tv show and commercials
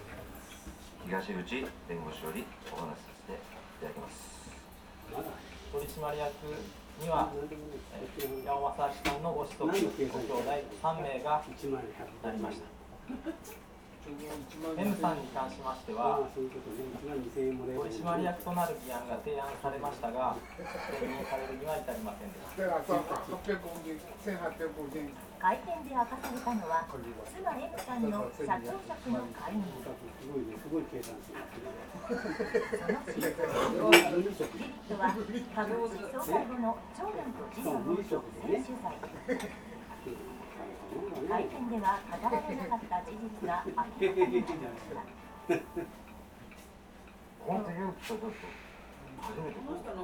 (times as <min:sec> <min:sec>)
0:33.7 0:50.0